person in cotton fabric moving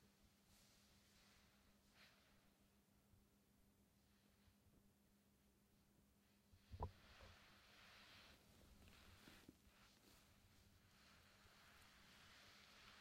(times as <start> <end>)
0.1 2.8, 6.5 13.0